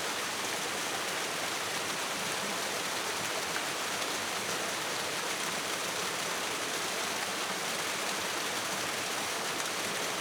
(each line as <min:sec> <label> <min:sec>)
0:00.0 stream goes over a small waterfall 0:10.2